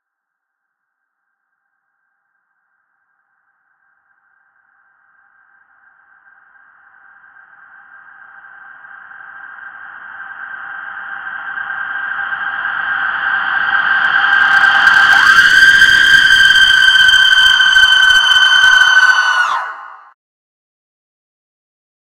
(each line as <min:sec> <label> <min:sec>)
0:12.8 Reverse scream 0:20.2